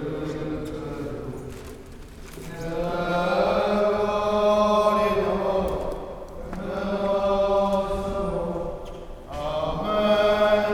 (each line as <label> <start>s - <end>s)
singing at the church door 0.0s - 10.7s